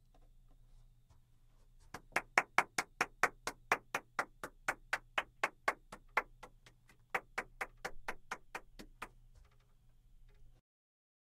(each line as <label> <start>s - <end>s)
One woman claping 1.9s - 9.2s